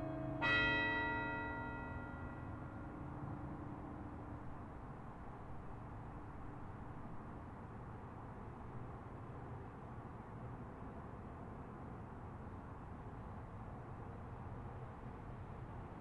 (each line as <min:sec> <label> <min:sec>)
0:00.0 bells rang 0:04.2
0:00.0 cars driving by the tower 0:06.7